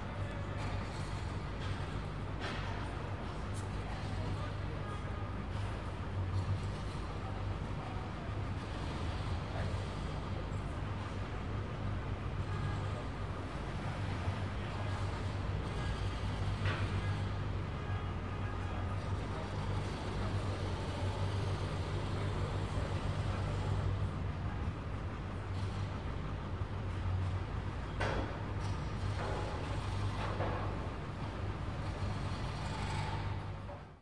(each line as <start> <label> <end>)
0.0 Traffic 34.0
0.0 Distant Construction 34.0